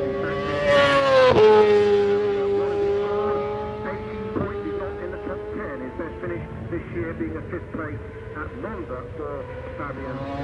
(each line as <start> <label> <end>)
0.0 Supersports 10.4